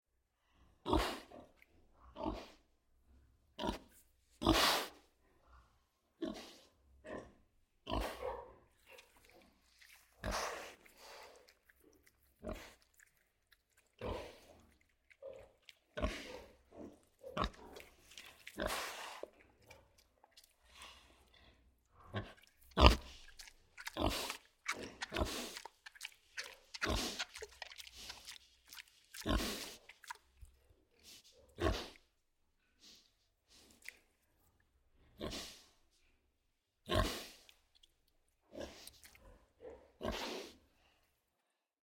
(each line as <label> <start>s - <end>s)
Big pig eating loudly 6.2s - 32.1s
Big pig eating loudly 36.9s - 40.7s